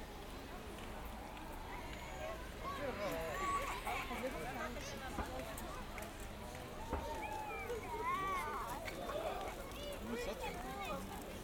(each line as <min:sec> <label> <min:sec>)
0:00.0 walk in zoo 0:11.4